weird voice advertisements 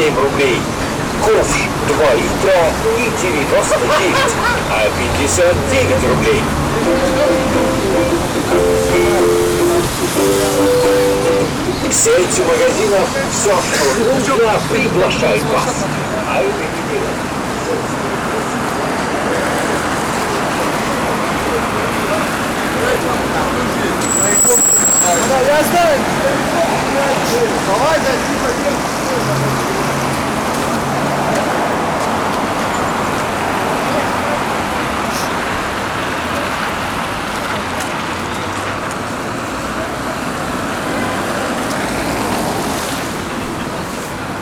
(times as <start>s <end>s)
4.9s 12.5s